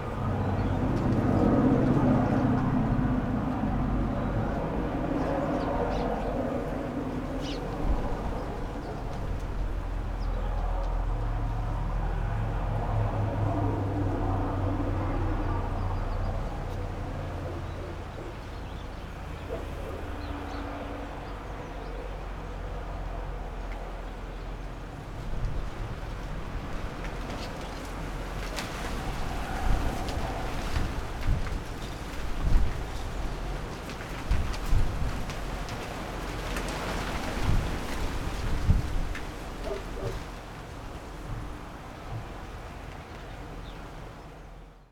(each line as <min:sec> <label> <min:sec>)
0:00.0 dirty aliscafo ferry boats arriving 0:44.8